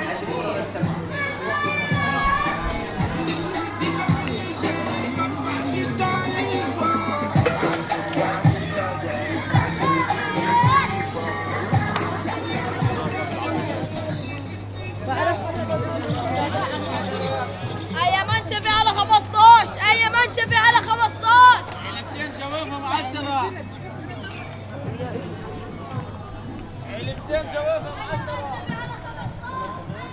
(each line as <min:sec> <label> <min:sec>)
0:00.0 crowed is passing by 0:30.1
0:00.8 young boys are shouting in Arabic 0:04.9
0:01.9 Loud music is coming out of the stoles 0:14.8
0:08.4 young boys are shouting in Arabic 0:13.0
0:17.9 young boys are shouting in Arabic 0:21.7
0:27.8 young boys are shouting in Arabic 0:30.1